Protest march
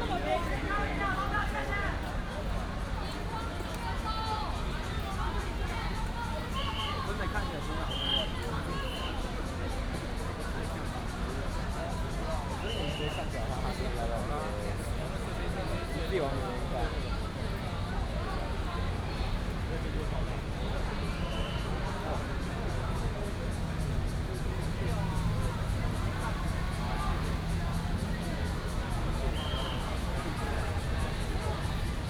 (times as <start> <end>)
20.1 32.0